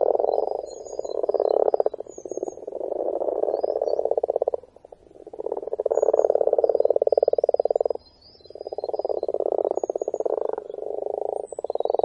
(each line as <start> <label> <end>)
0.0 frogs (Rana temporaria) croaking 12.0